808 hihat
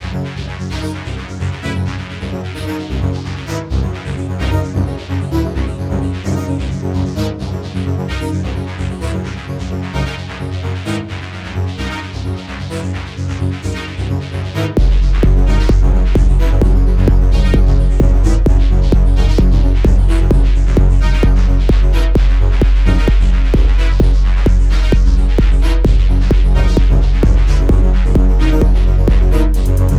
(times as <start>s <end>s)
14.8s 29.9s